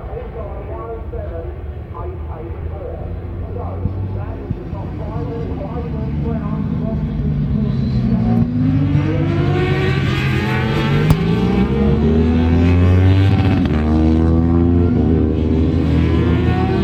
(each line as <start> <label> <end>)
0.0 commentary 7.8